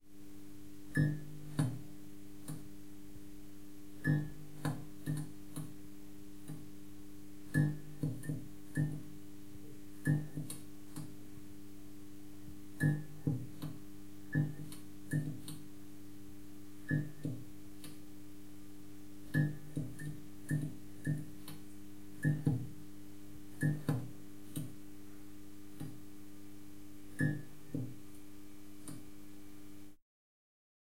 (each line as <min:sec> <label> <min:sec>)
0:00.0 hum 0:30.0
0:07.5 flickering neon light 0:09.2
0:12.7 flickering neon light 0:15.8
0:19.2 flickering neon light 0:22.8
0:23.5 flickering neon light 0:24.8
0:27.1 flickering neon light 0:29.8